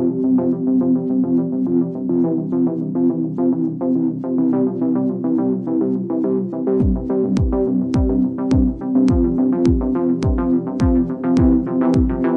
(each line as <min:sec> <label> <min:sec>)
0:00.0 synth 0:12.3